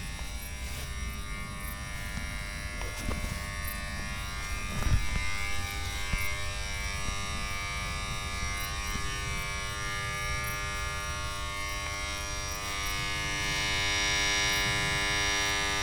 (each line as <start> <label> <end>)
0.0 night crickets 15.8